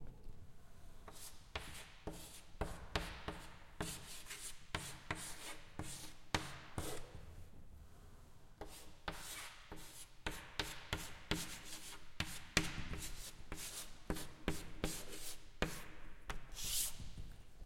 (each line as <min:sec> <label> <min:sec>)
0:01.1 Chalk writing 0:07.0
0:08.6 Chalk writing 0:17.1